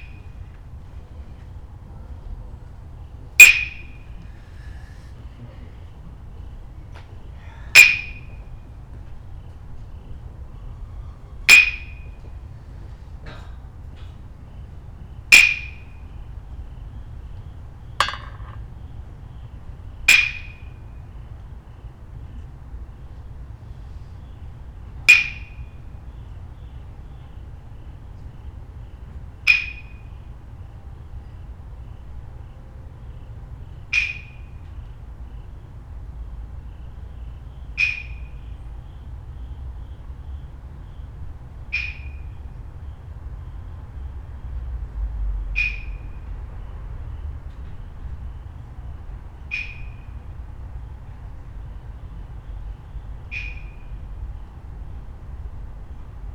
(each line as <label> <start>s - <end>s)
percussionist sounding the streets around 0.0s - 22.5s
percussionist sounding the streets around 24.3s - 35.5s
percussionist sounding the streets around 36.4s - 56.3s